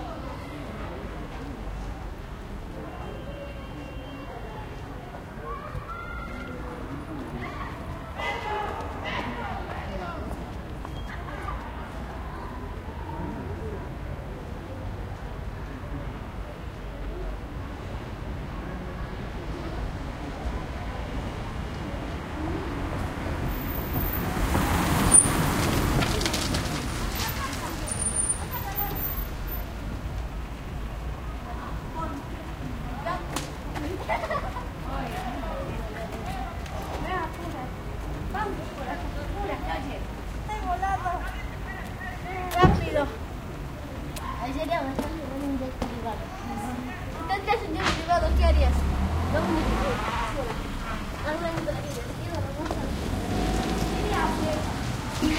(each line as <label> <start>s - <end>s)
people activity 0.0s - 55.3s
motorcycle pass 48.2s - 55.3s